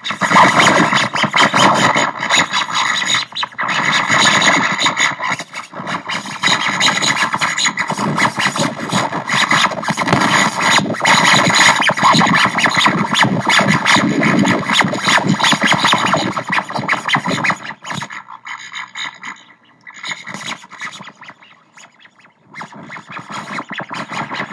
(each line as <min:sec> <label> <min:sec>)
0:00.0 Radio interference 0:24.5